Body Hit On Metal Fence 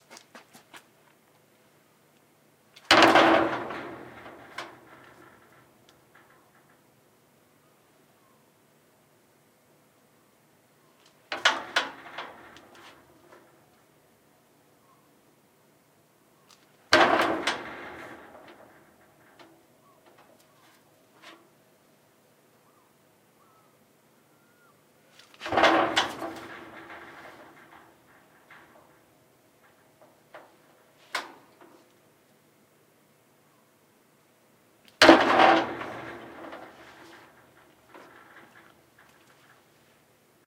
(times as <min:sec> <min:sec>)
0:02.9 0:06.8, 0:11.3 0:13.6, 0:16.8 0:20.3, 0:25.3 0:31.7, 0:35.0 0:39.6